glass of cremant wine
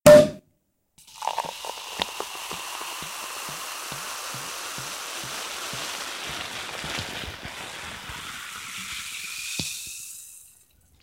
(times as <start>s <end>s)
1.0s 6.4s